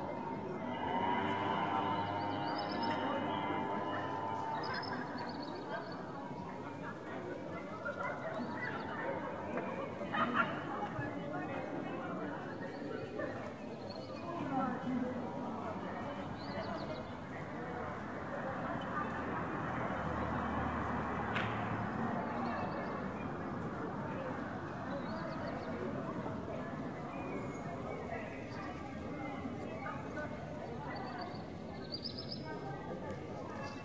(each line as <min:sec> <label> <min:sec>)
0:00.0 tourists 0:33.8